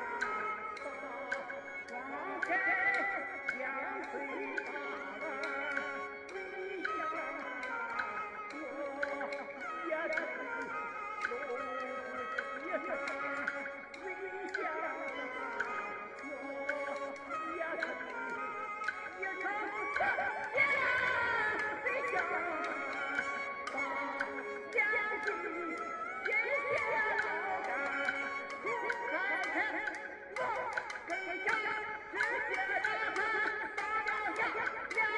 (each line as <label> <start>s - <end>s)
Amateur opera singers 0.0s - 35.1s
musicians performing traditional Shannxi opera 0.0s - 35.1s